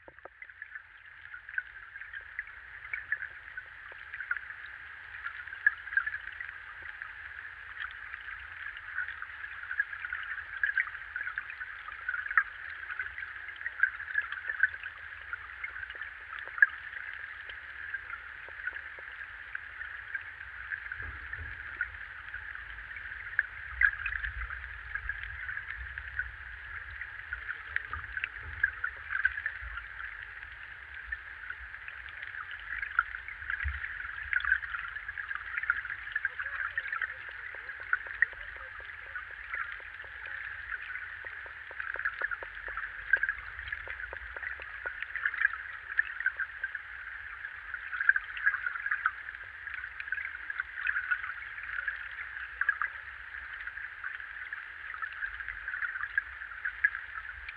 0.0s river 57.5s

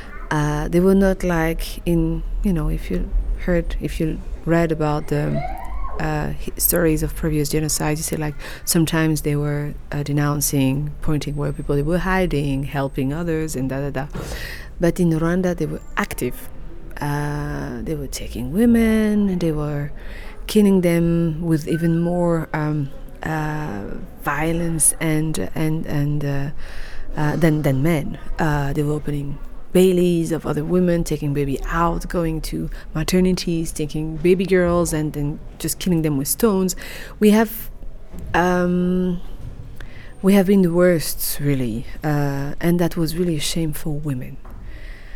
0.0s conversation 44.7s

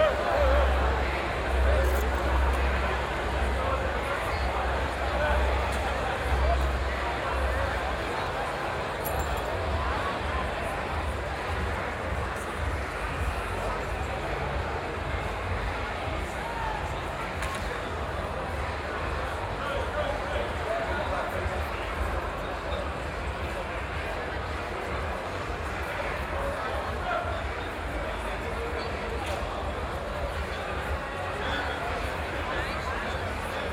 0.0s streets of Aarau are full of people 33.7s

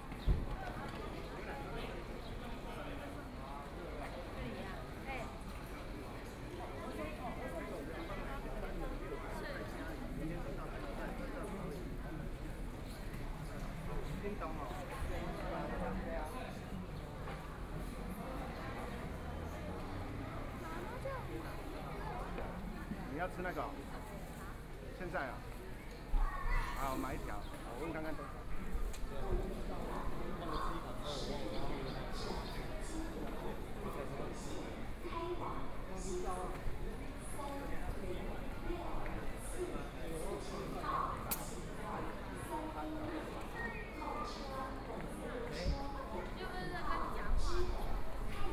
0.0s Travelers to and from the Station hall 48.5s

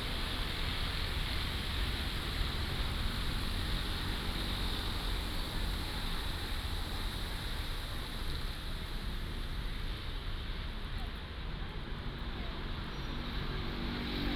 0.0s fountain 11.1s
0.0s Traffic sound 14.3s

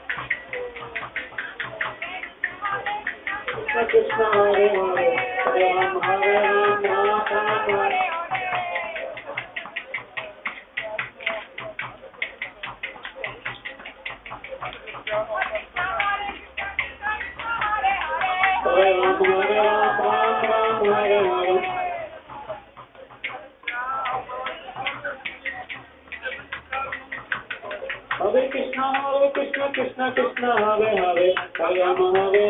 2.0s disciples singing 9.9s
15.1s disciples singing 22.4s

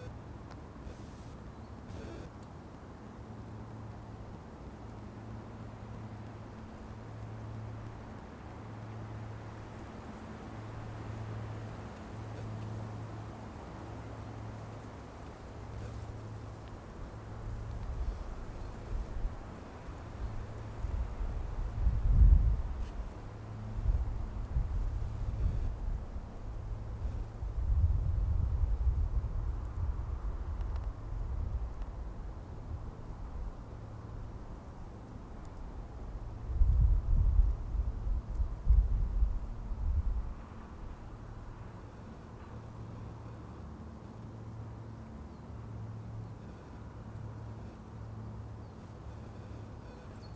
40.6s Birds 50.3s

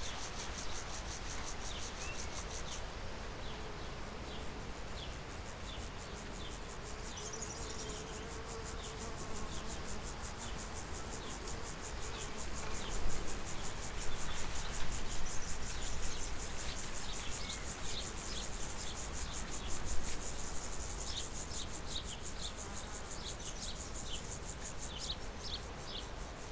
0.0s wind in cornfield 8.8s
9.6s wind in cornfield 26.5s

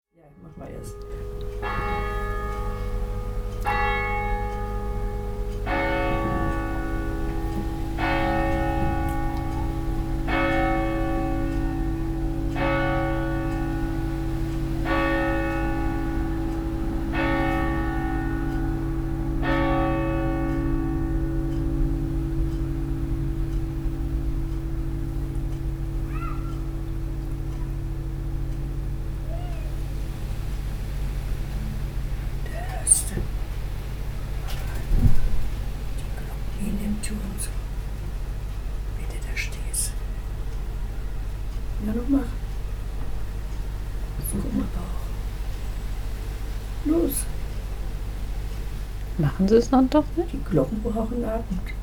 21.4s Angelus 30.0s

